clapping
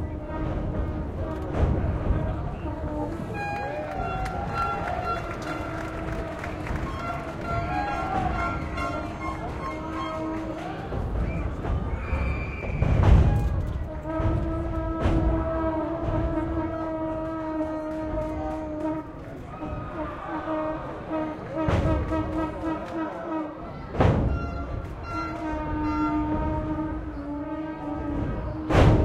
0:03.3 0:11.2, 0:17.2 0:19.4, 0:21.8 0:23.3

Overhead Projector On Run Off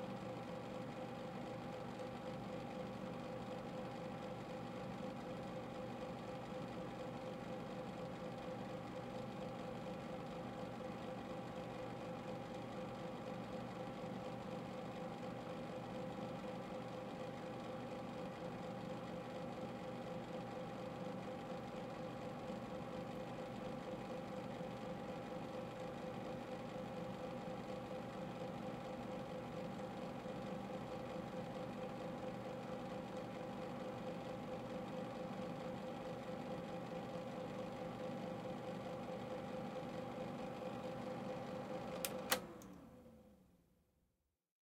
0:41.6 0:42.9

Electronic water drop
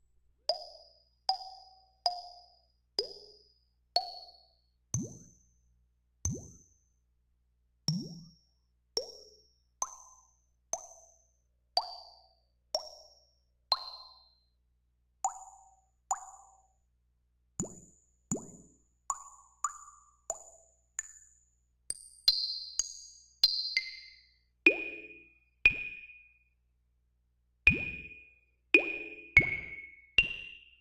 0:27.7 0:28.1, 0:28.8 0:30.3

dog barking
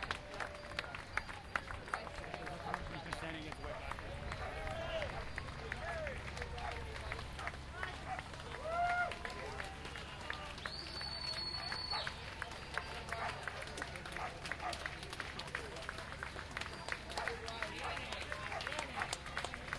0:11.6 0:12.2, 0:14.1 0:14.9

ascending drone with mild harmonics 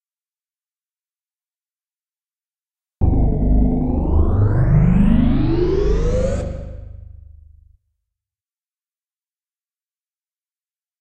0:03.0 0:07.5

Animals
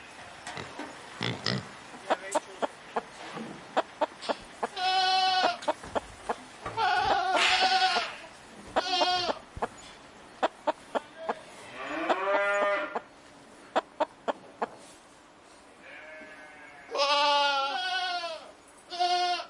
0:00.0 0:14.9

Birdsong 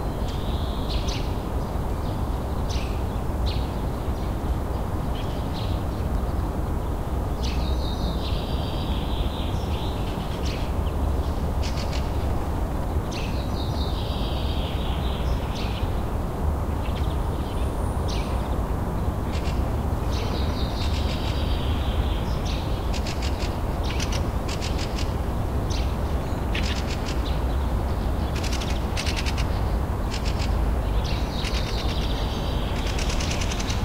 0:16.7 0:33.8

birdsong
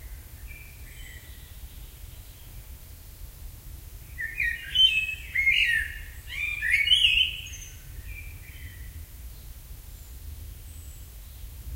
0:04.1 0:11.6

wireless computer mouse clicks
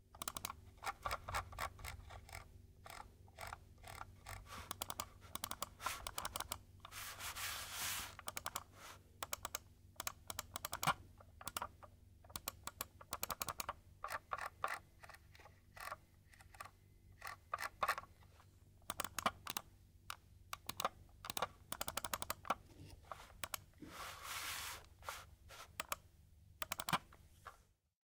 0:00.2 0:06.6, 0:08.2 0:18.1, 0:18.8 0:22.6, 0:23.4 0:23.7, 0:25.7 0:26.0, 0:26.6 0:27.1

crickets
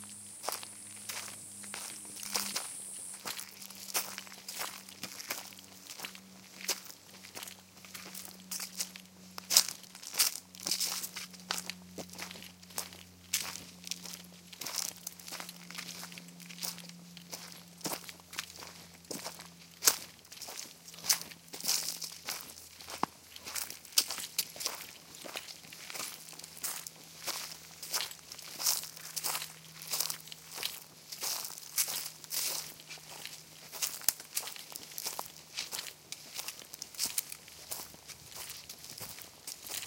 0:00.0 0:06.8

